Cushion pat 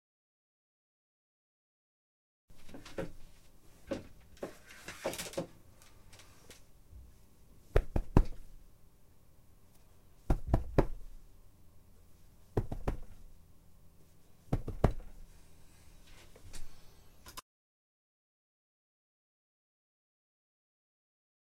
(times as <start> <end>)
7.7 8.5, 10.2 11.2, 12.5 13.3, 14.5 15.2